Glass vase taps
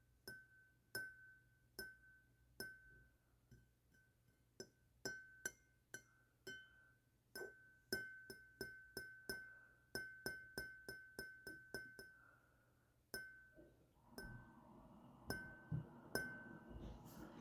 15.3s 17.4s

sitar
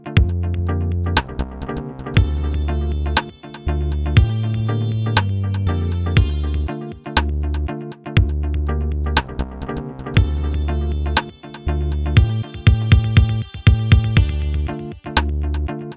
1.9s 7.6s, 10.1s 15.2s

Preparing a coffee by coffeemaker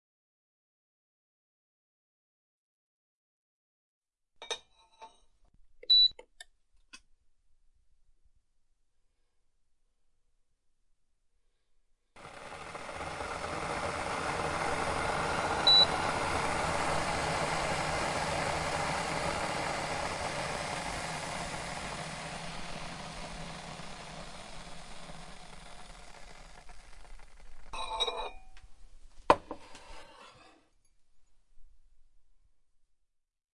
12.2s 28.7s

